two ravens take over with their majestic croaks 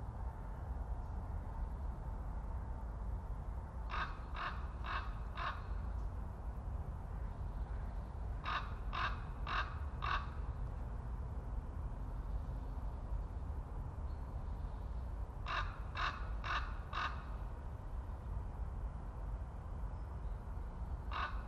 3.9 5.8, 7.7 10.5, 15.4 17.4, 21.1 21.4

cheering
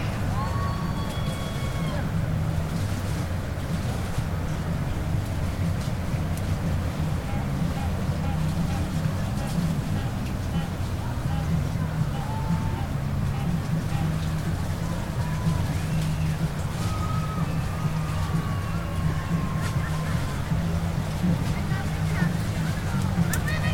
0.0 2.2, 12.2 12.8, 14.9 20.6

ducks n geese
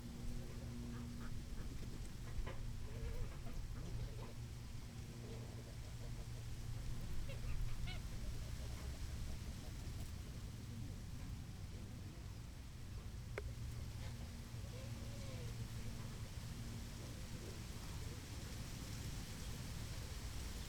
5.2 9.3

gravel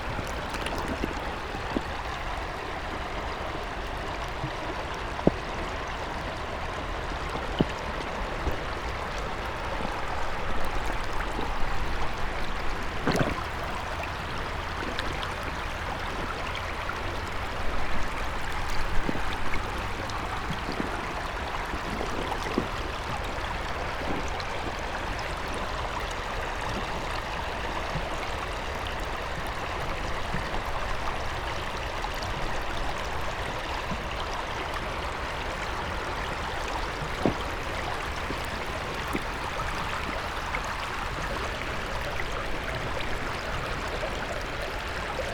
36.6 42.2

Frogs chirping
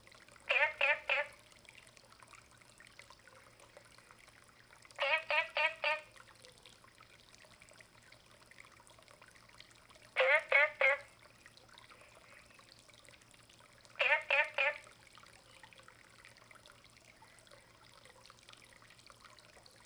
10.2 11.0, 14.0 14.8

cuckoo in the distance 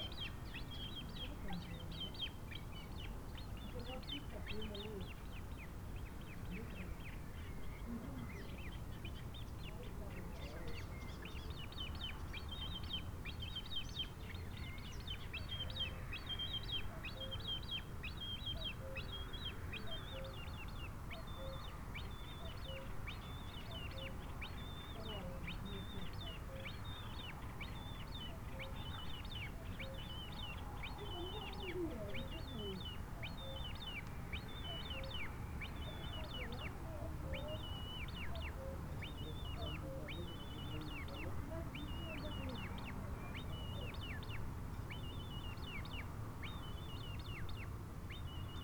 28.1 44.4

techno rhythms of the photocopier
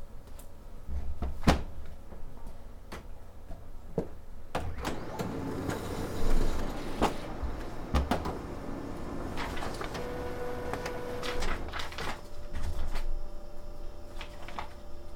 4.6 15.1

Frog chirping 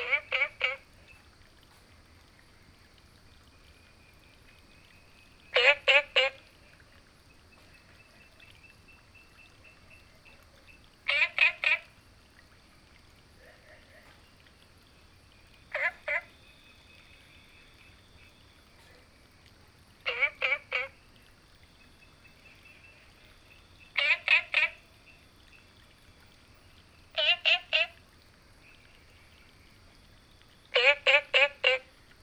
0.0 1.2, 5.2 6.8, 7.5 12.0, 15.6 18.5, 20.0 21.2, 21.8 25.9, 26.7 28.0, 30.7 32.0

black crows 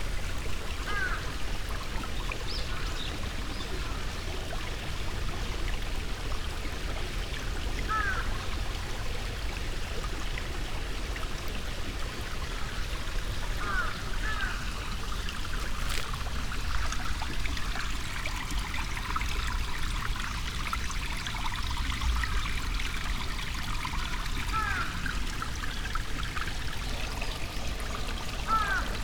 0.9 1.2, 7.9 8.3, 13.6 14.7, 24.5 25.0, 28.4 29.0

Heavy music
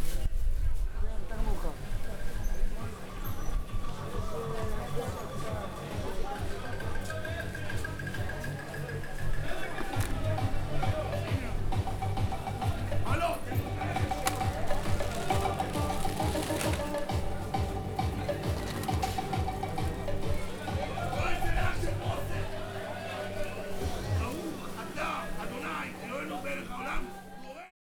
9.9 25.9

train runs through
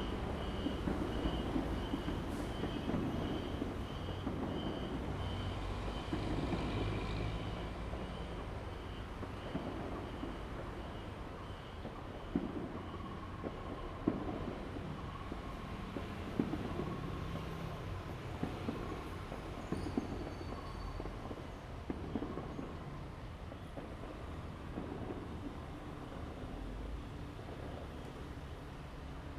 0.0 11.3

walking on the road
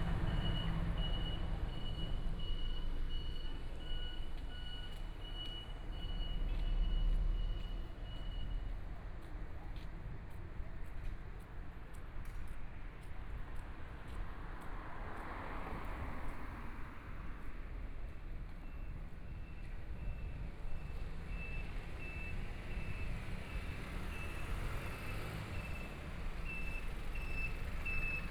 4.2 21.2

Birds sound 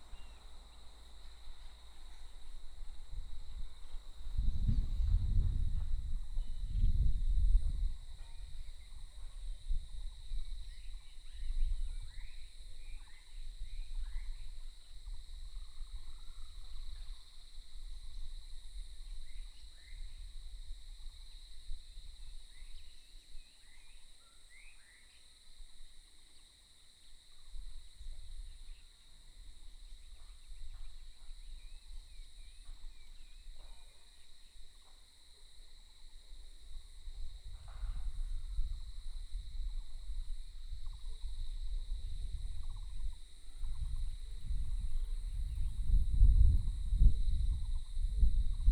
0.0 2.8

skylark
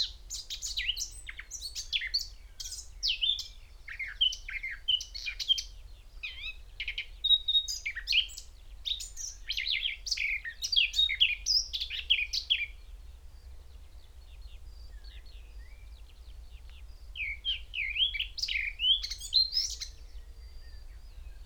13.4 21.4

